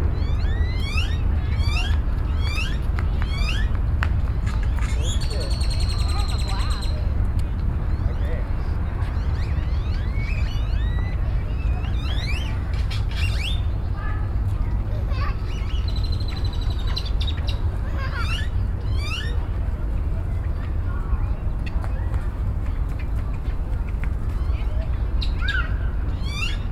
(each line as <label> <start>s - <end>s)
Birds 0.0s - 26.7s
Children 8.3s - 26.7s